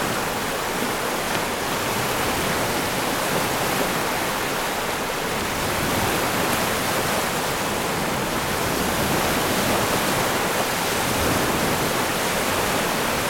0.0s waves approach from both sides 13.2s

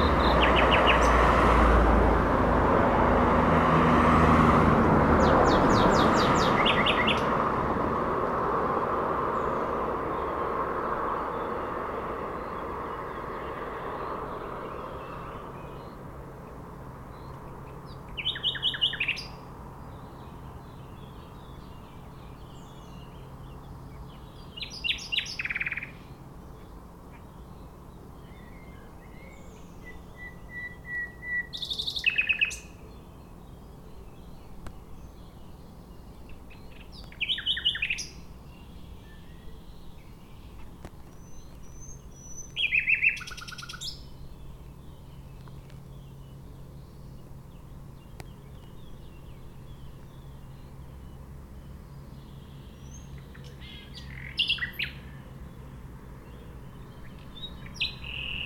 0.0s Circulation des véhicules 20.4s
0.0s passages de trains 22.1s

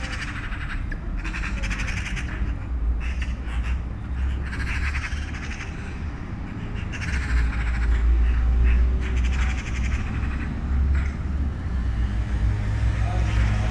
0.0s 10 magpies in a tree 13.7s

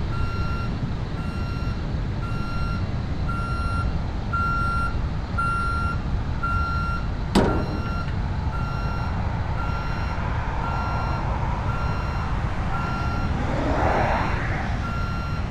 10.6s drone coming from the dam 15.5s

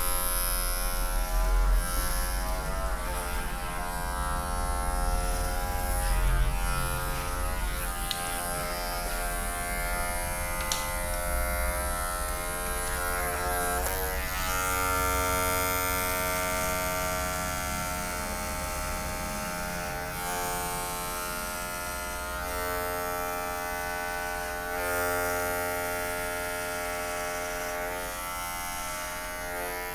0.0s hairdressing 29.9s

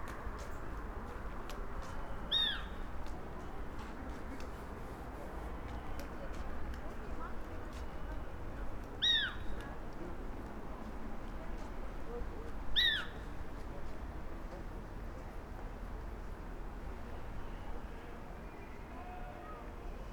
9.0s small owl 9.4s
12.8s small owl 13.2s

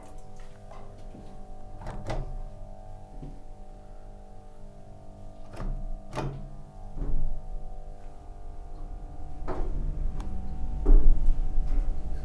5.0s a drive with the elevator 12.2s

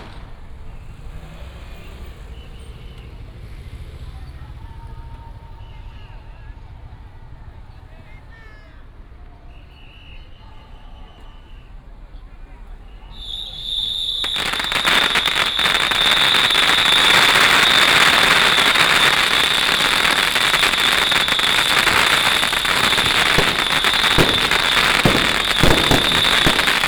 0.0s fireworks 2.3s
0.0s Firecrackers 4.0s
9.5s whistle 11.8s
12.9s whistle 26.8s
13.1s Firecrackers 26.8s
13.2s fireworks 26.8s

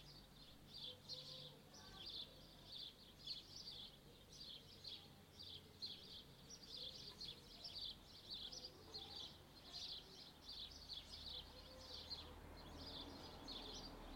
0.0s distant childrens voices 14.1s

